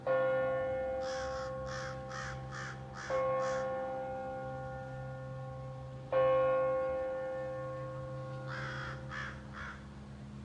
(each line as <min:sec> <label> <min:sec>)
0:01.0 crows cawing 0:03.8
0:08.4 crows cawing 0:09.9